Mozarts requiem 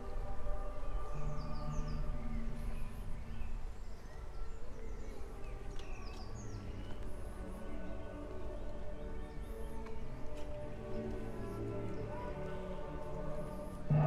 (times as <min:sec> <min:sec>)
0:07.6 0:14.0